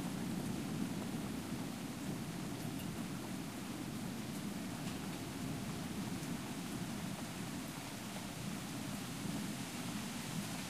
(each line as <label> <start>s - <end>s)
steady rain 0.0s - 10.6s
wind 0.0s - 10.6s